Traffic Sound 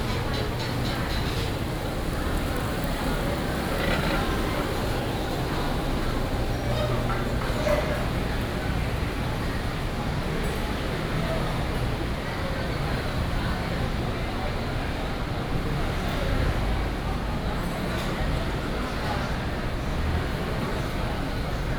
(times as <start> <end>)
0.0 10.0